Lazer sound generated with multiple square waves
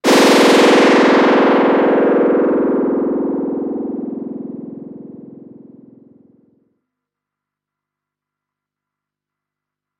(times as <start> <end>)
0.0 6.3